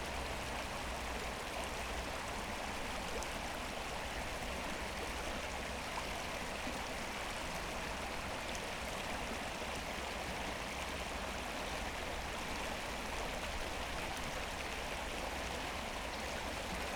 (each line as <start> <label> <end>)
0.0 river Wuhle water flow 16.9